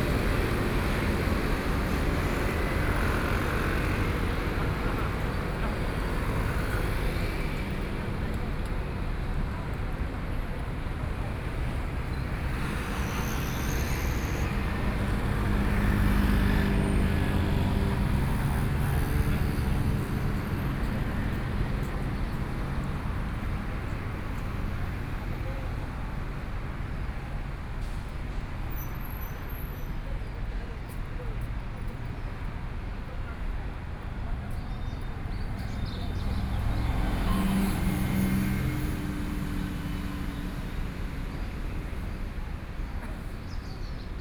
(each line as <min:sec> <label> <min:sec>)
0:00.0 Traffic Sound 0:44.2